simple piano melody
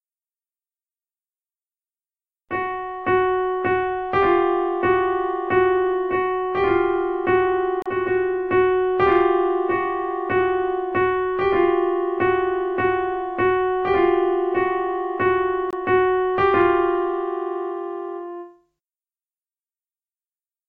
2.5 18.7

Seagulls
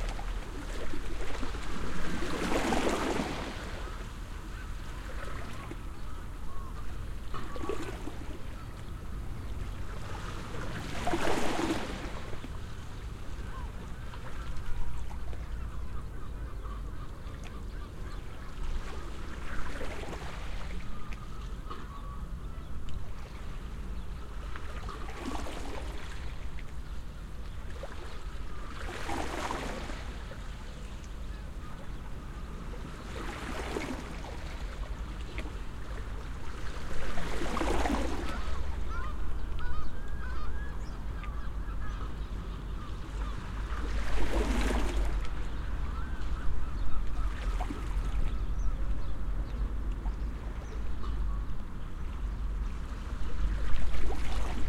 37.5 45.0

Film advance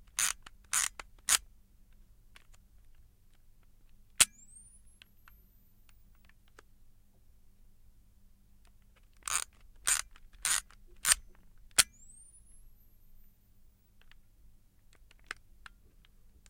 9.2 13.4

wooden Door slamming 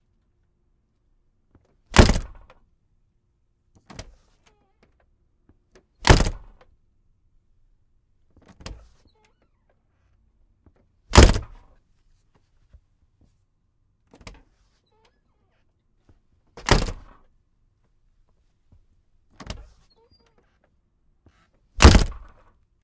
1.9 2.6, 6.0 6.6, 11.1 11.6, 16.6 17.2, 21.8 22.4

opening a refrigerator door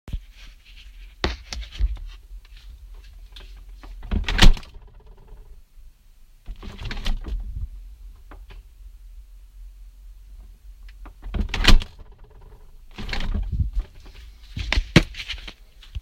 3.9 5.5, 6.5 7.5, 11.1 14.0

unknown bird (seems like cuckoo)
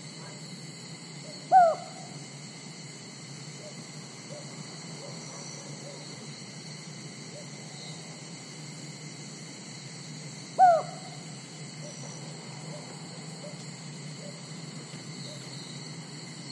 1.2 2.2, 10.6 12.0

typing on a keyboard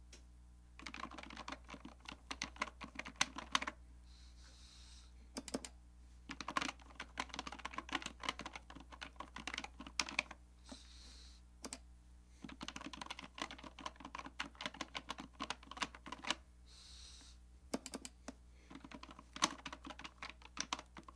0.8 3.8, 6.3 10.4, 12.4 16.4, 18.7 21.1

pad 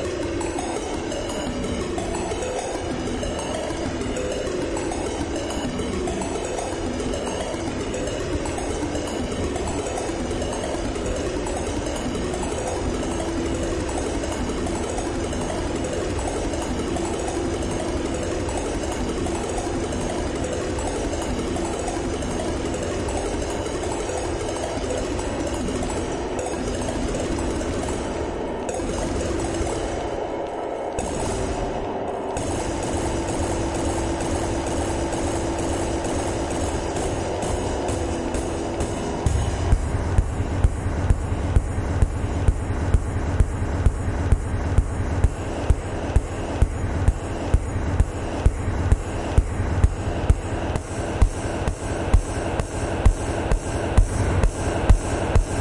24.8 55.6

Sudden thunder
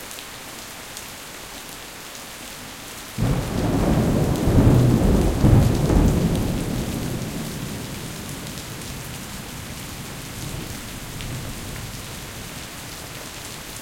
3.2 10.7

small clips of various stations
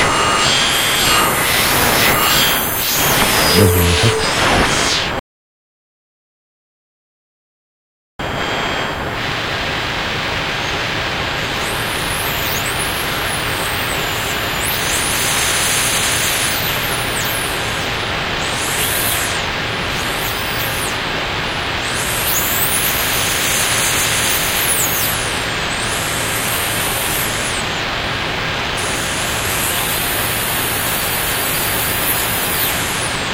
0.0 5.2

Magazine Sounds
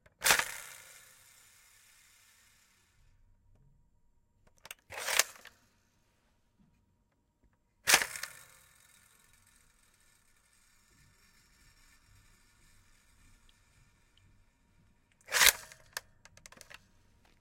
15.2 15.9

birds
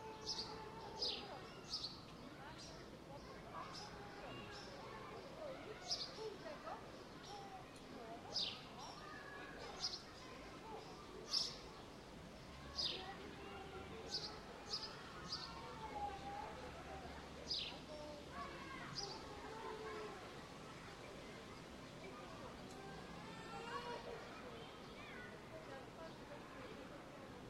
0.0 20.9

